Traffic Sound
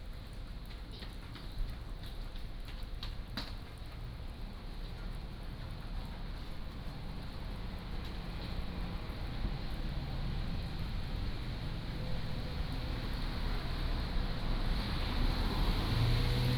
7.1s 16.5s

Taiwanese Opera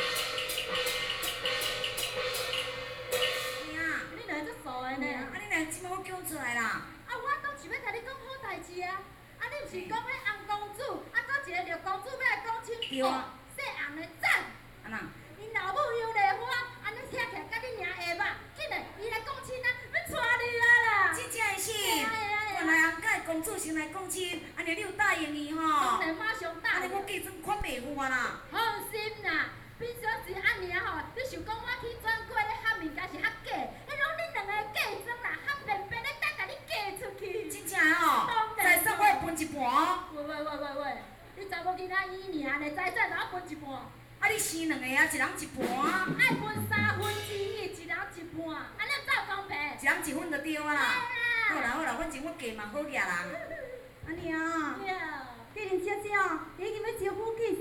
0.0s 4.1s

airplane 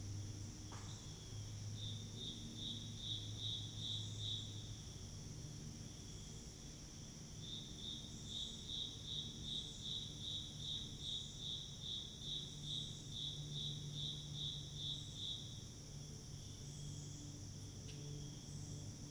0.0s 8.3s, 12.9s 19.1s

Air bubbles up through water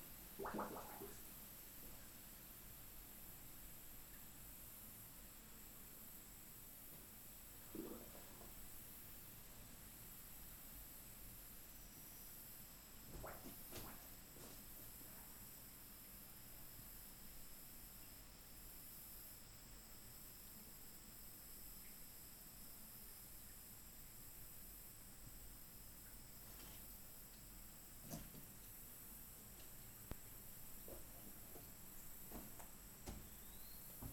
0.3s 1.3s, 7.6s 8.7s

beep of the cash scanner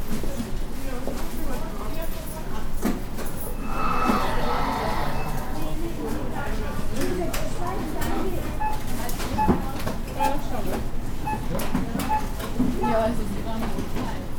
10.2s 10.4s, 11.2s 13.0s

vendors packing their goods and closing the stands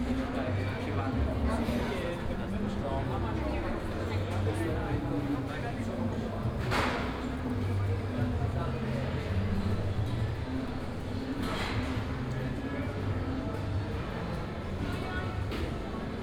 4.4s 16.2s

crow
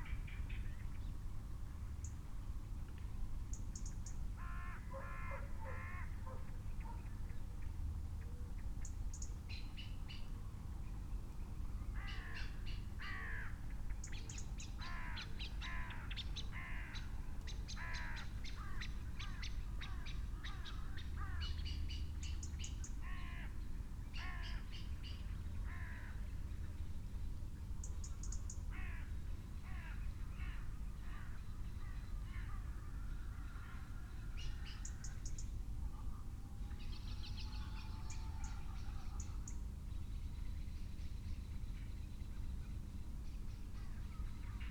4.4s 6.2s, 12.0s 13.6s, 14.8s 17.1s, 17.8s 21.6s

